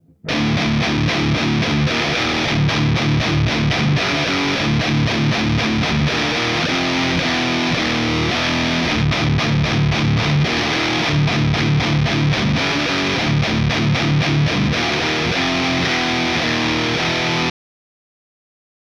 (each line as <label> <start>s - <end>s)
riffs made by me, using a custom made Les Paul style guitar 0.0s - 17.5s